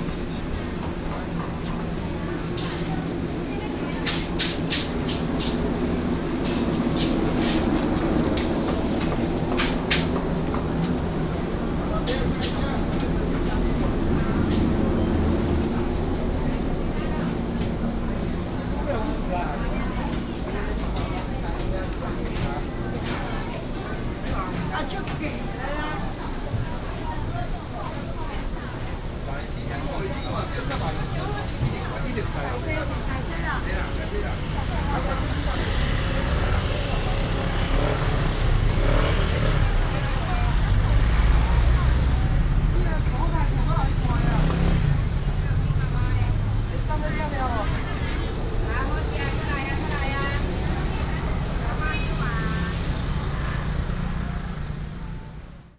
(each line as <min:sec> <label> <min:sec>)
0:00.0 Traffic sound 0:55.7
0:00.0 vendors peddling 0:55.7
0:00.0 walking in the dusk market 0:55.7